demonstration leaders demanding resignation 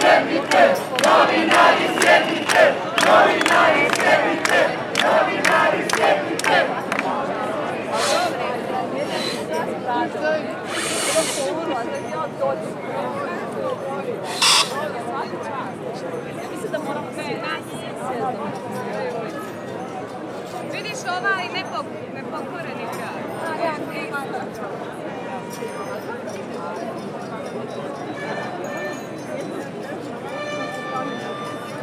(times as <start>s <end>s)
7.7s 9.7s